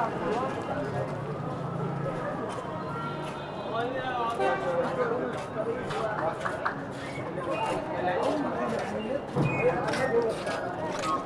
0.0s Passersby 11.2s

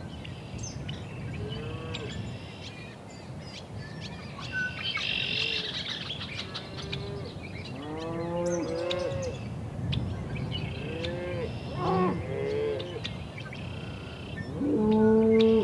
0.0s bird singing 15.6s
6.8s Cows and bulls calling and mooing 9.4s
10.8s Cows and bulls calling and mooing 13.1s
14.5s Cows and bulls calling and mooing 15.6s

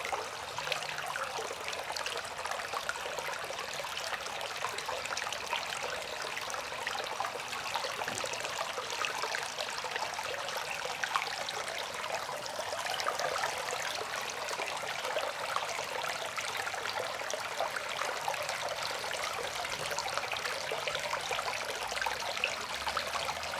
3.4s rain water drain pipe 15.0s
18.6s rain water drain pipe 23.5s

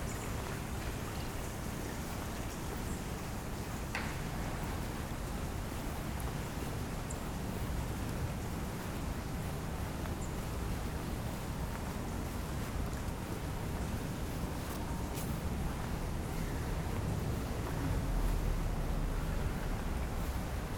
0.0s Water is flowing everywhere from drains 20.7s

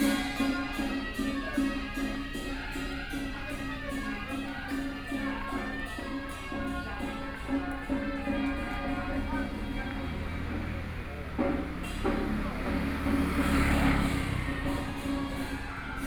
0.0s Puja 16.0s

